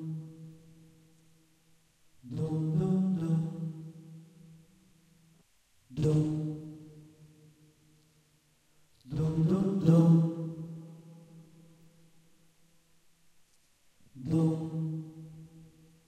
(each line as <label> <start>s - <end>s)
voice 2.3s - 3.6s
voice 6.0s - 6.4s
voice 9.1s - 10.2s
voice 14.2s - 14.8s